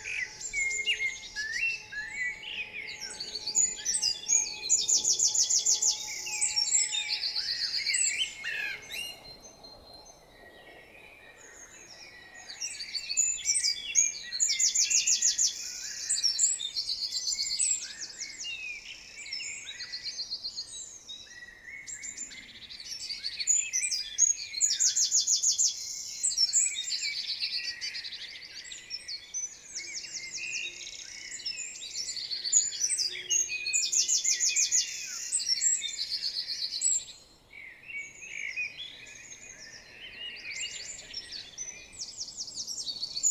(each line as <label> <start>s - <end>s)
Common chaffinch 0.0s - 20.1s
blackbird 0.0s - 43.3s
european robin 0.0s - 43.3s
Common chaffinch 20.7s - 43.3s